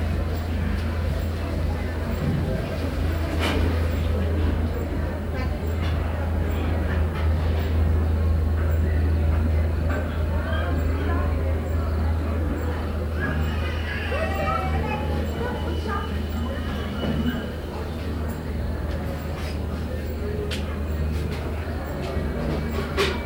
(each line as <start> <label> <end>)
0.0 voices 23.2